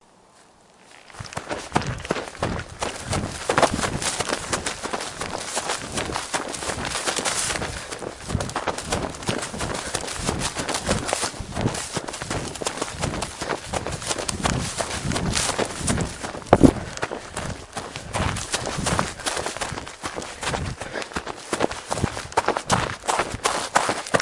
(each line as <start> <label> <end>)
0.1 Wind gently blowing through the grass 20.8
0.3 living green grass brushing against clothes 24.2
0.3 Dead grass being crunched underfoot 20.7